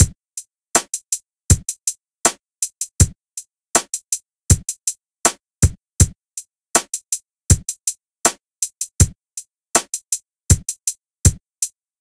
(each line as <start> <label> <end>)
0.8 kick hat snare 3.2
3.8 kick hat snare 6.2
6.8 kick hat snare 9.2
9.8 kick hat snare 11.8